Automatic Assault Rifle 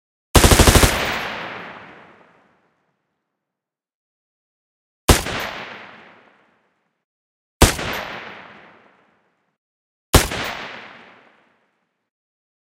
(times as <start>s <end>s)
0.4s 2.0s